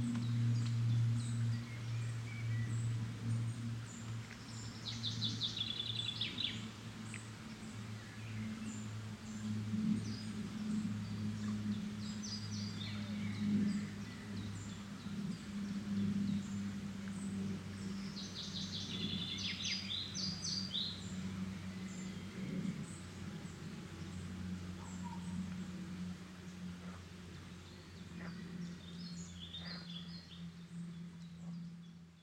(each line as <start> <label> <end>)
28.2 frogs chorus 30.3